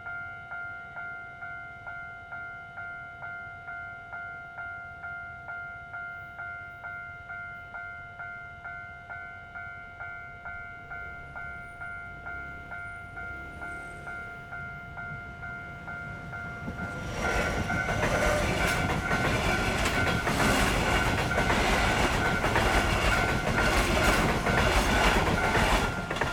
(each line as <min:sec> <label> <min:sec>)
0:00.0 Small Railway crossings 0:26.3
0:03.6 the train passes by 0:26.3